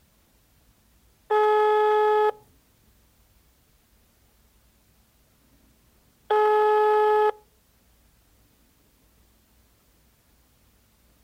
cellphone is ringing 0:01.3 - 0:02.4
cellphone is ringing 0:06.3 - 0:07.4

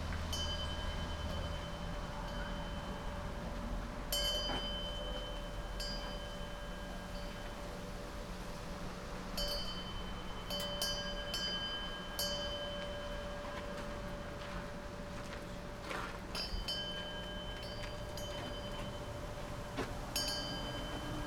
small bell/wind chime ringing 0:00.3 - 0:03.4
small bell/wind chime ringing 0:04.1 - 0:07.6
small bell/wind chime ringing 0:09.4 - 0:14.3
small bell/wind chime ringing 0:16.4 - 0:21.2

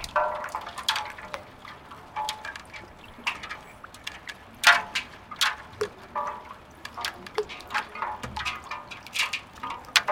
boats, twisting each others 0:00.0 - 0:10.1

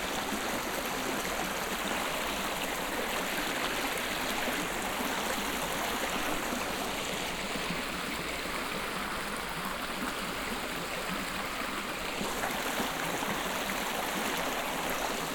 small stream 0:00.0 - 0:15.3

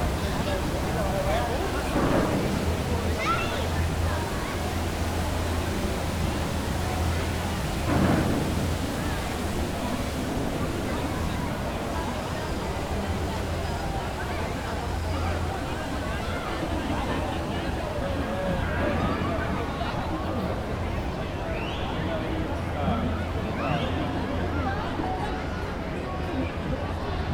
water fountain 0:00.0 - 0:27.3

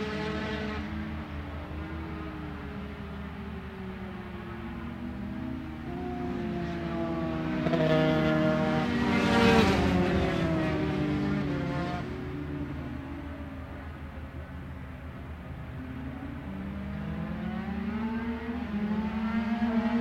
Motorcycle Grand Prix 0:00.0 - 0:20.0

